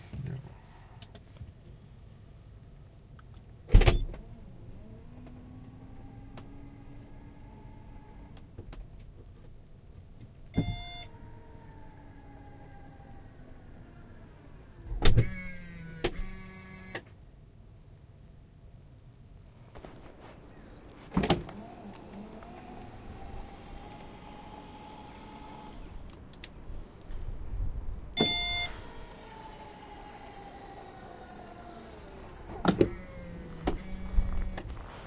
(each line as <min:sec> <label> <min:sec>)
0:03.7 car backtrunk opening and closing inside and outside 0:07.3
0:10.6 car backtrunk opening and closing inside and outside 0:12.6
0:14.8 car backtrunk opening and closing inside and outside 0:17.0
0:20.9 car backtrunk opening and closing inside and outside 0:26.2
0:28.0 car backtrunk opening and closing inside and outside 0:35.0